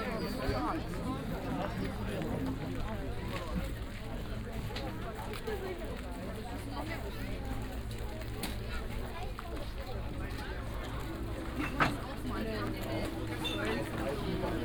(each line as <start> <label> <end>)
0.0 voices 14.6